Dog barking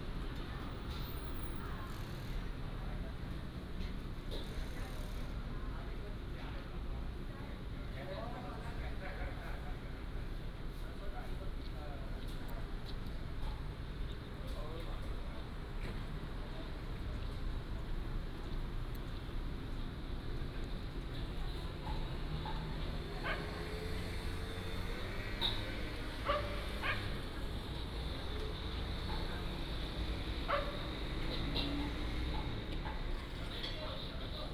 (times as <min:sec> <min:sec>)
0:23.2 0:23.6, 0:26.2 0:27.2, 0:30.5 0:30.9